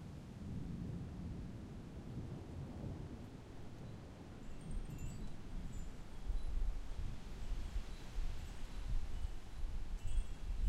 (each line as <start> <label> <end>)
0.0 Wind in trees 10.6
4.4 wind chimes 10.6